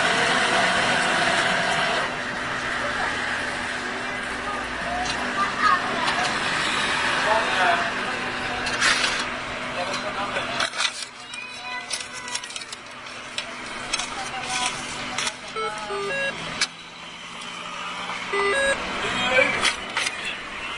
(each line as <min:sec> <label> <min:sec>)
0:10.0 wall mounted cash deposit machine 0:16.8
0:18.3 wall mounted cash deposit machine 0:18.8